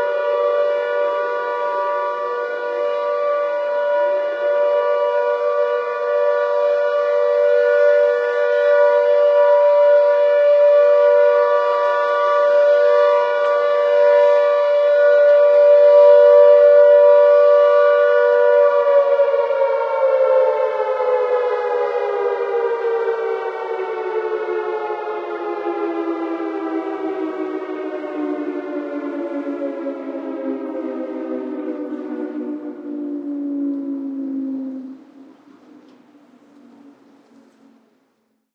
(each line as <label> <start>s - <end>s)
air raid siren test 0.0s - 38.5s